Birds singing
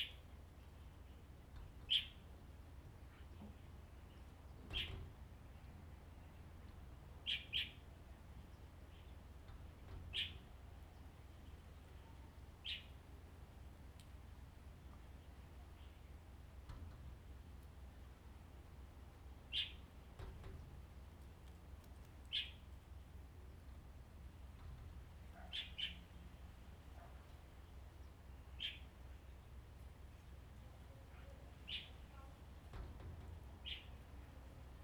0:07.2 0:09.2, 0:19.5 0:19.9, 0:22.3 0:22.7, 0:25.4 0:26.3, 0:27.0 0:29.6, 0:31.5 0:32.3, 0:33.6 0:34.2

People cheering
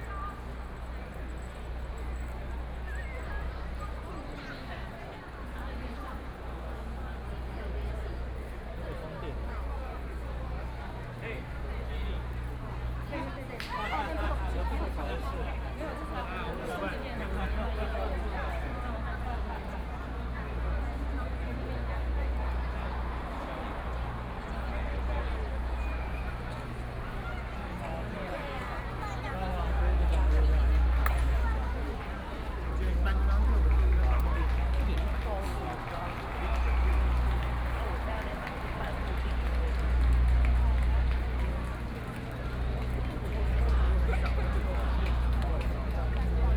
0:20.2 0:46.5

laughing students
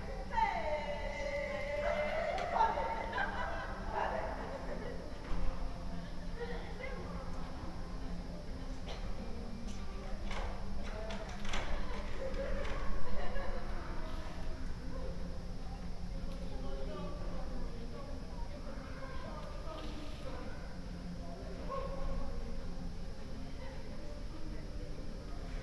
0:00.6 0:05.3

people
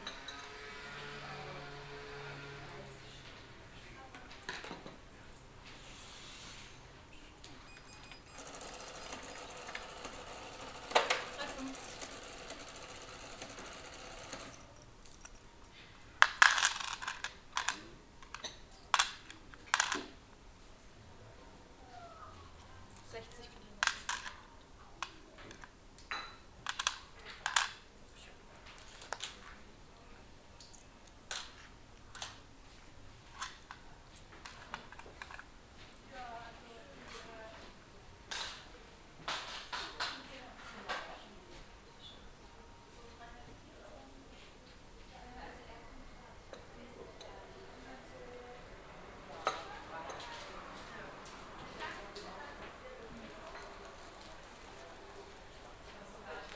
0:07.1 0:15.4, 0:36.0 0:56.5

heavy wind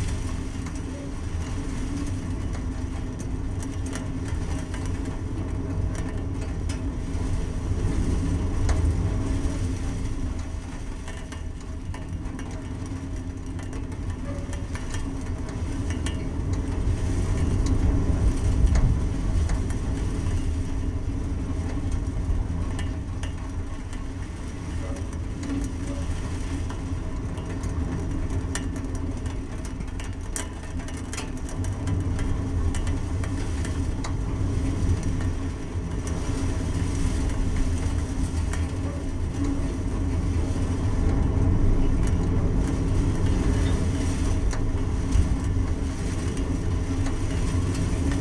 0:14.0 0:25.5, 0:31.5 0:48.2

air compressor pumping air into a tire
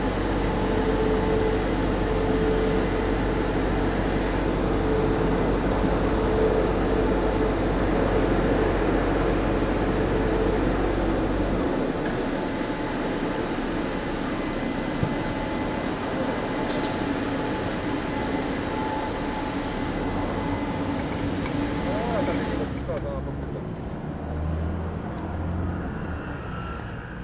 0:16.2 0:23.1

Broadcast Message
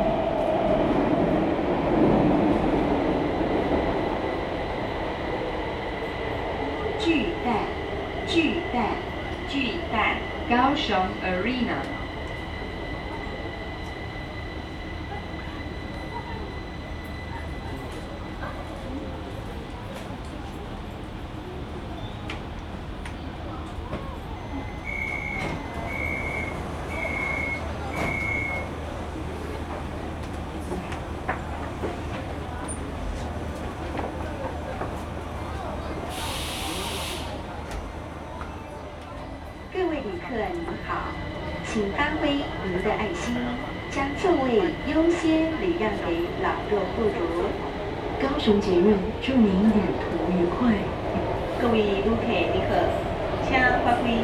0:48.2 0:54.2

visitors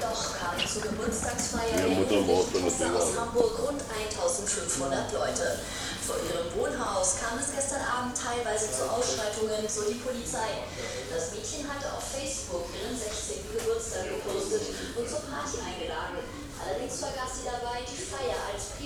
0:00.0 0:04.4

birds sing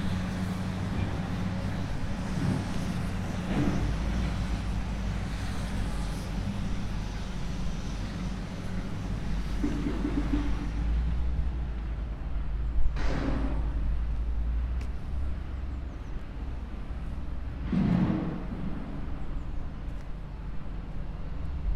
0:15.6 0:16.3

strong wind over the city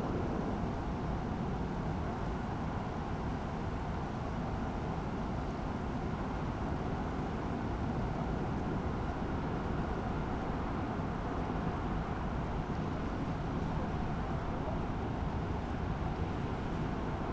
0:08.3 0:17.3

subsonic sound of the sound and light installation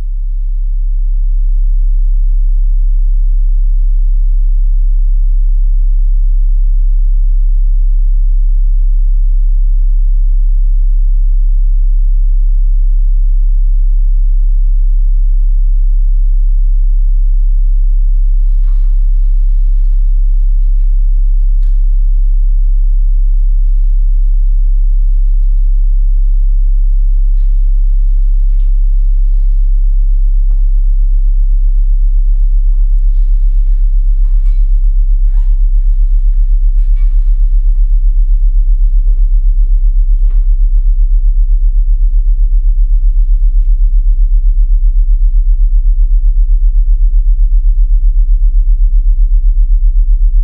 0:18.2 0:44.3

